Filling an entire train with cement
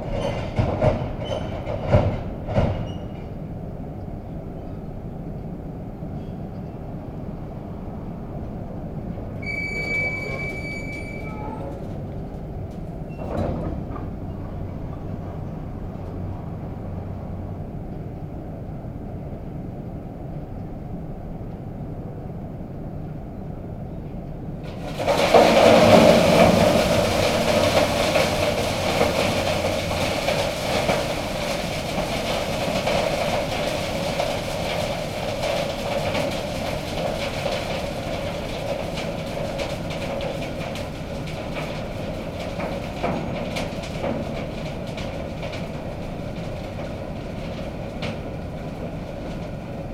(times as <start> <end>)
24.6 49.9